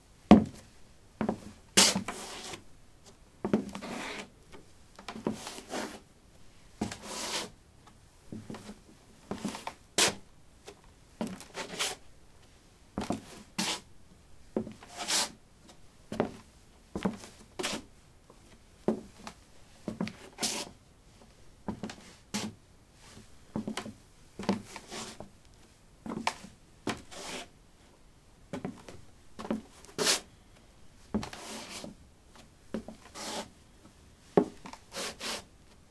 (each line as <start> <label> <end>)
17.0 Shuffling on a wooden floor 27.5
31.1 Shuffling on a wooden floor 35.5